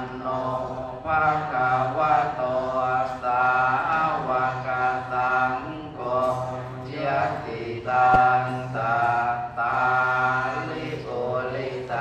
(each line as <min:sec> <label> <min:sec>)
0:00.0 prayers 0:12.0